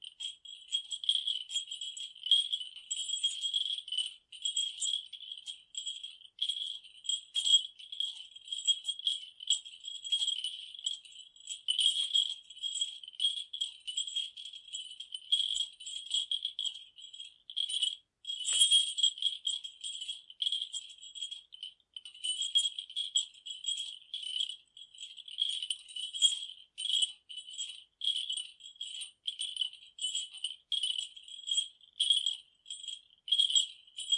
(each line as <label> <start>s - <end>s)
Japanese Bell 18.4s - 19.0s